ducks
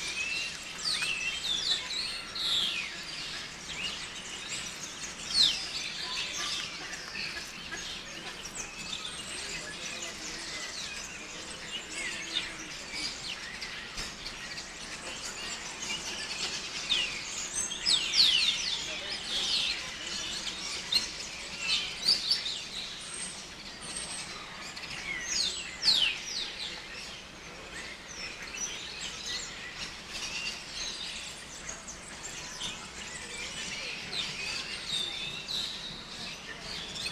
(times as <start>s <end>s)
1.4s 17.2s